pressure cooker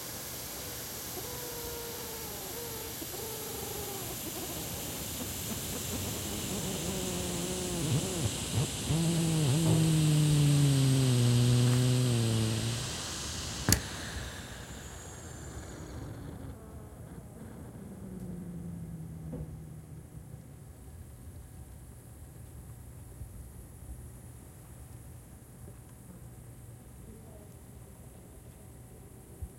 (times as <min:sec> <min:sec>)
0:00.0 0:16.9